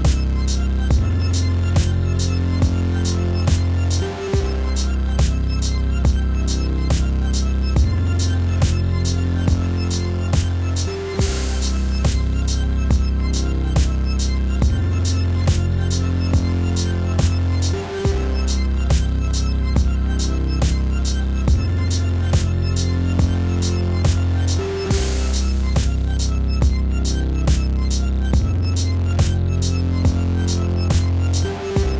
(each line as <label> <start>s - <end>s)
Drum 0.0s - 31.9s
Synth 0.0s - 31.9s